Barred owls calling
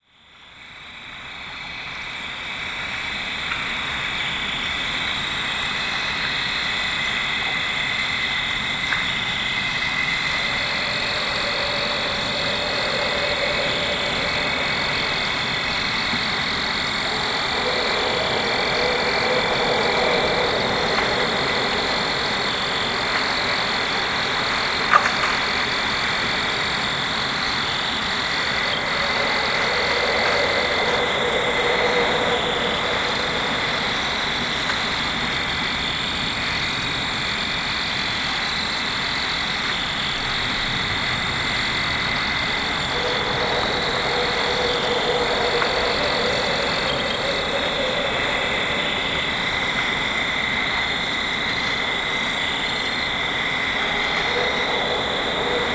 10.0s 25.6s, 27.9s 35.6s, 42.7s 51.0s, 53.3s 55.7s

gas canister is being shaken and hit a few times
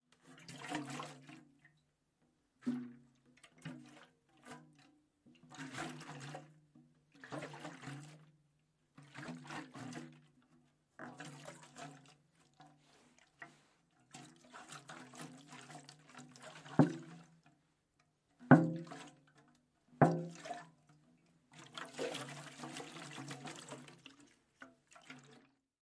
2.6s 4.9s, 13.4s 17.4s, 18.5s 21.0s, 21.6s 24.0s

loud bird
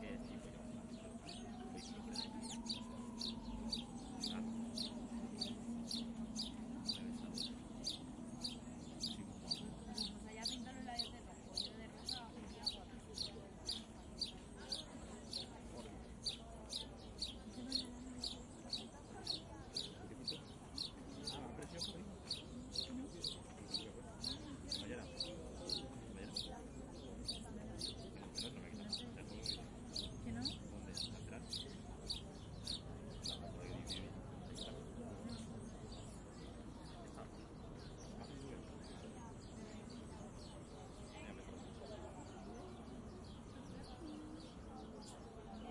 0.3s 36.2s

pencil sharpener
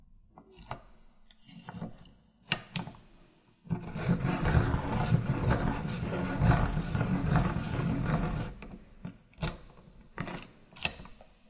3.7s 8.7s

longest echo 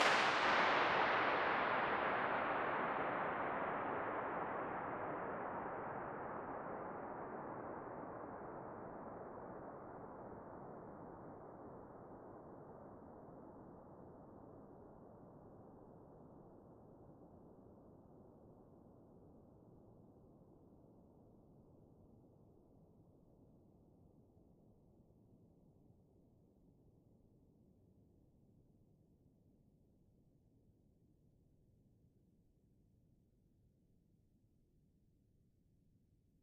0.0s 6.8s

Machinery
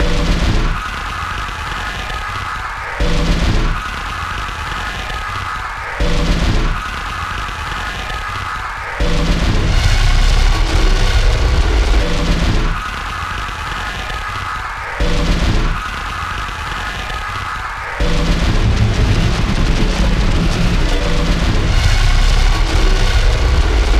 18.0s 23.9s

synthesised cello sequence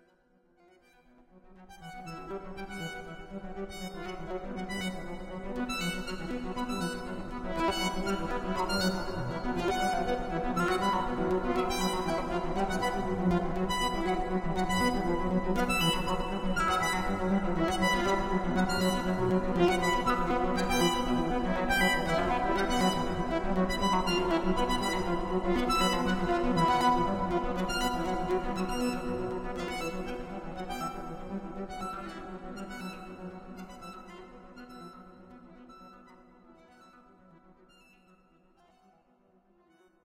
7.7s 35.9s

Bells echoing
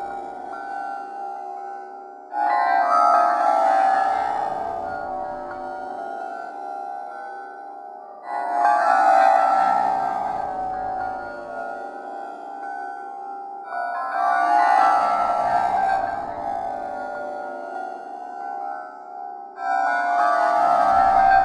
10.0s 12.0s

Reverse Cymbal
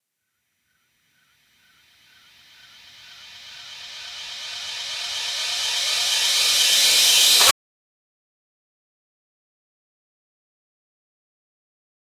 1.4s 7.5s

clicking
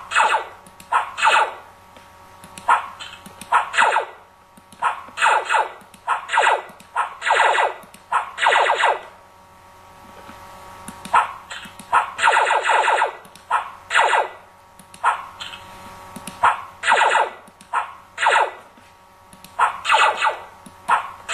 19.3s 19.6s

